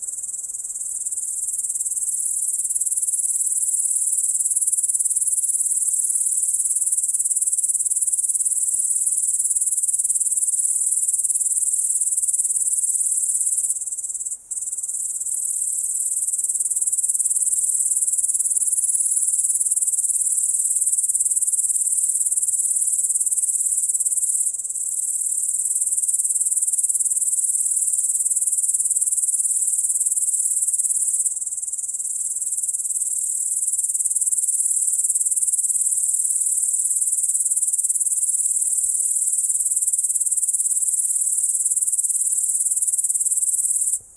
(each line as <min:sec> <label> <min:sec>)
0:00.0 crickets 0:44.1